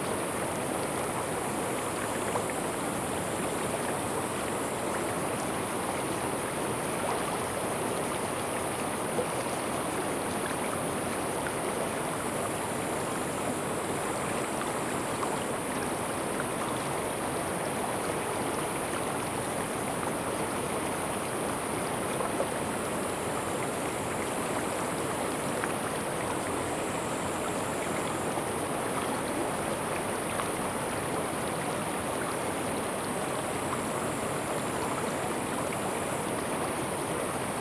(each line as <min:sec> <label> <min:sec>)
0:00.0 Brook sound 0:37.6